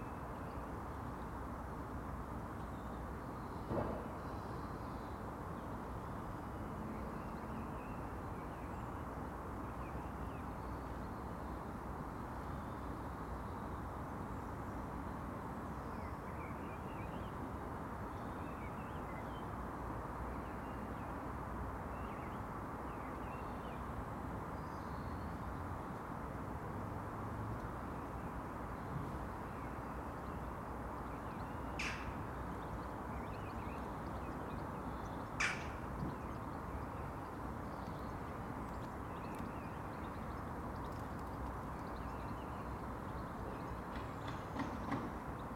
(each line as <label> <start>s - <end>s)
distant calls of Jackdaws 29.4s - 45.5s
A single Blue Tit 35.2s - 37.2s